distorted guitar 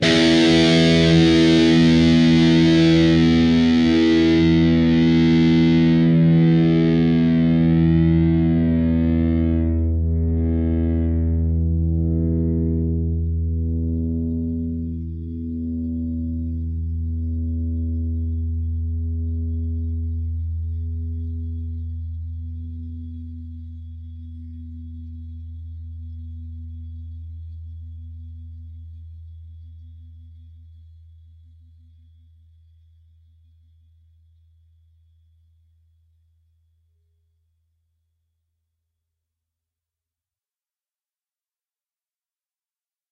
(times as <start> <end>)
0.0 25.5